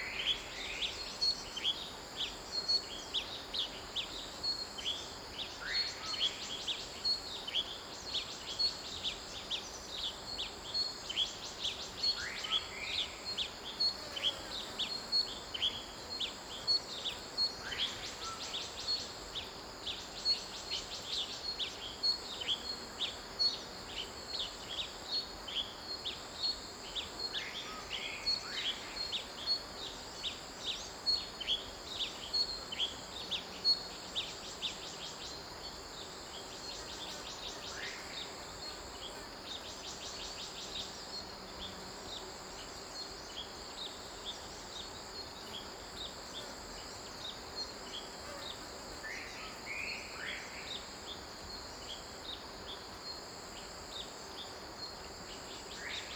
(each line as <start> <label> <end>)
0.0 Insect noise 56.1